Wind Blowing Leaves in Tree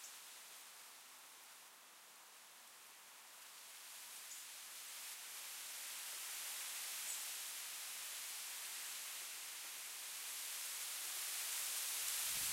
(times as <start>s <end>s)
2.6s 12.5s